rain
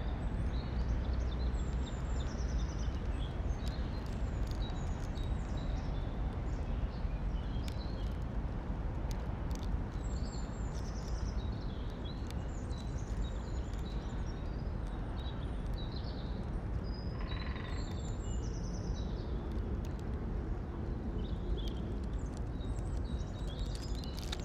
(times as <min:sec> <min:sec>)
0:03.0 0:05.5, 0:07.5 0:16.8, 0:19.4 0:24.4